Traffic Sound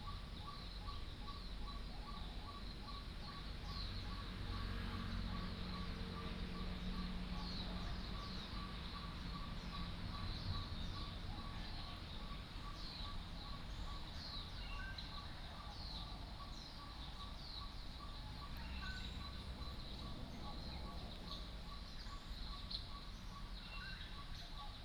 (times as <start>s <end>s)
3.0s 22.5s